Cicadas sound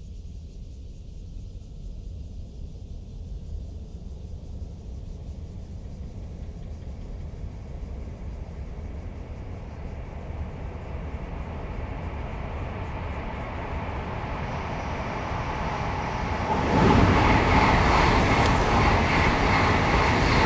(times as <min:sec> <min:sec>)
0:10.5 0:20.4